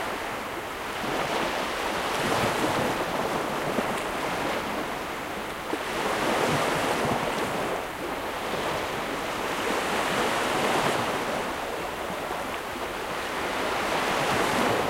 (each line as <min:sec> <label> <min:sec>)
0:00.0 waves 0:14.8
0:00.0 wind 0:14.8